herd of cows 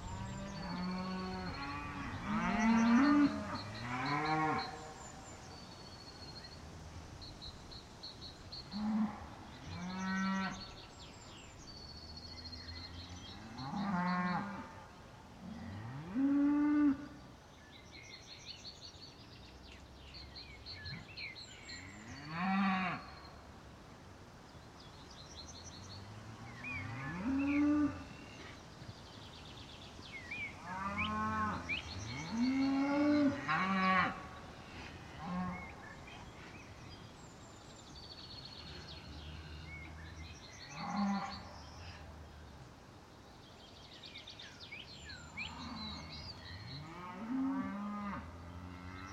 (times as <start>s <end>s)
0.0s 17.2s, 30.2s 42.1s, 45.1s 49.1s